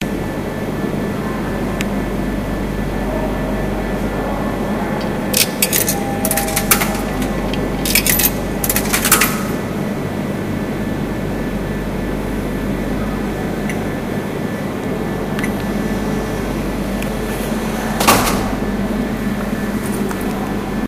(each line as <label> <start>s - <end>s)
Purchasing of a snack at a vending machine 5.0s - 9.8s